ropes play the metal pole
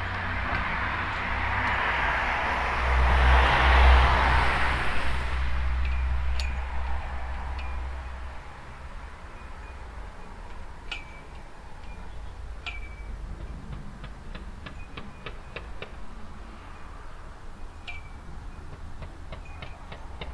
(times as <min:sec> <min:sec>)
0:09.4 0:16.0, 0:17.8 0:20.3